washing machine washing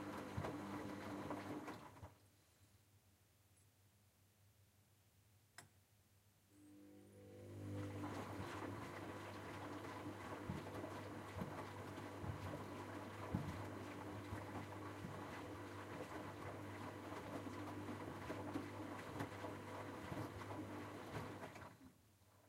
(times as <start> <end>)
0.0 2.2, 7.2 22.4